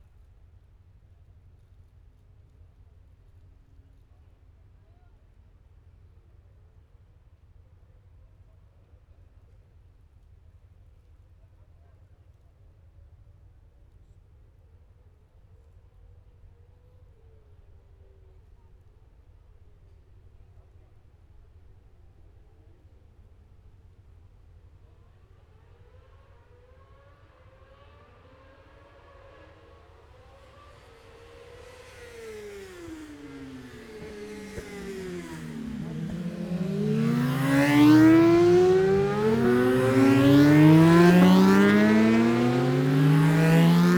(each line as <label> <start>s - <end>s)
Motorcycle Road Racing 26.9s - 43.9s